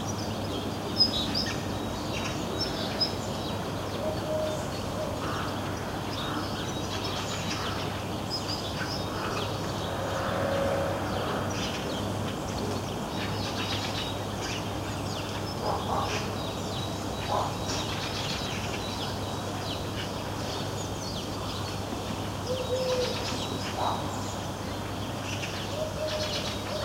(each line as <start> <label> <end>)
8.7 rooks 13.6
9.1 hooded crows 11.9